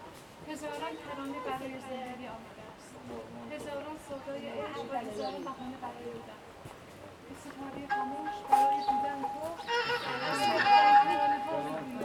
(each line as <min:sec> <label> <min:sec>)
0:00.0 Hiking 0:12.0